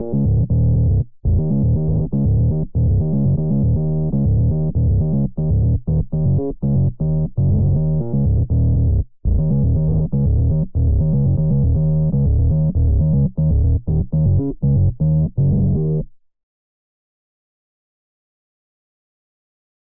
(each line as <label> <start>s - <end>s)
Distorted square synth bass melody 0.0s - 16.0s